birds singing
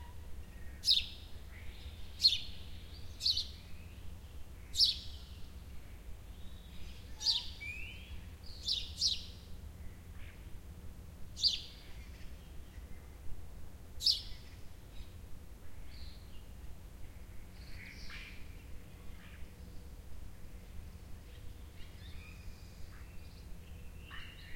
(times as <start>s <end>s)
0.4s 5.6s, 6.3s 10.4s, 11.4s 13.1s, 14.0s 15.2s, 21.3s 24.5s